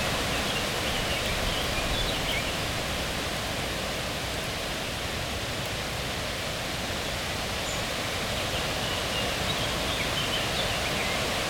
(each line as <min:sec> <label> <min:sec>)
0:00.0 wind in the leaves 0:11.4